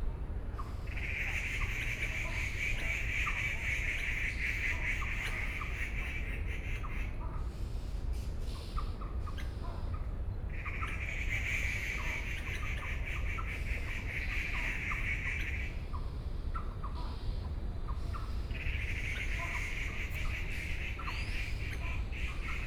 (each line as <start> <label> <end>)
8.2 Birdsong 22.6